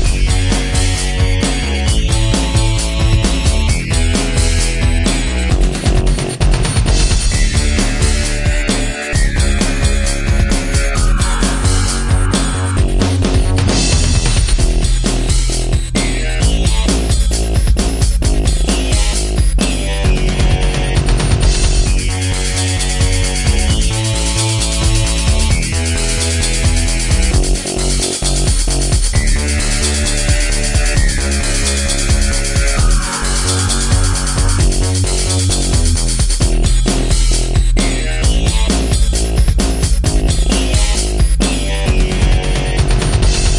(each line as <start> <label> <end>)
0.0 bass 43.5
0.0 drums 43.5
0.0 synth 43.5